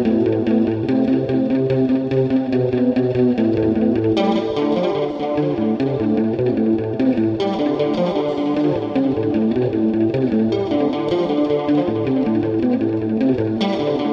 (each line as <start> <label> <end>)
0.0 guitar 14.1